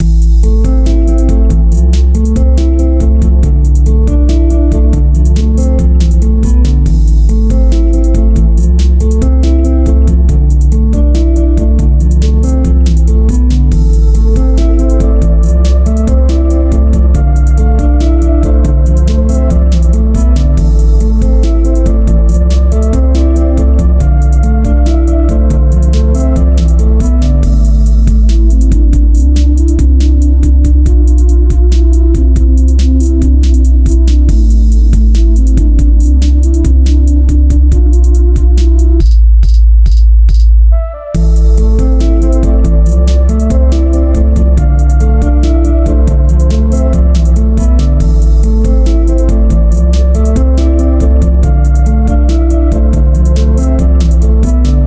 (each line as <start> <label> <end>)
0.0 guitar 38.5
0.0 drums 54.8
41.2 guitar 54.8